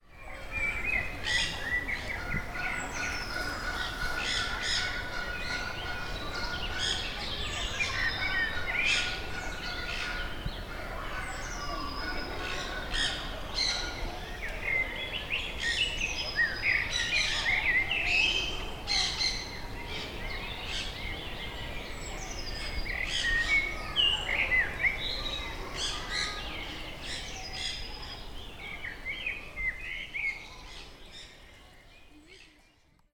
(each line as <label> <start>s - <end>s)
local and exotic birds vocalisations 0.0s - 33.1s